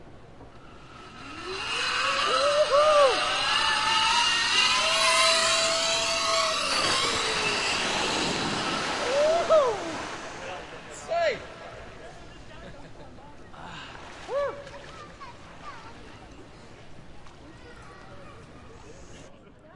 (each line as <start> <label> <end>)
0.0 zipline 11.2
0.0 Zipline water landing splash 12.7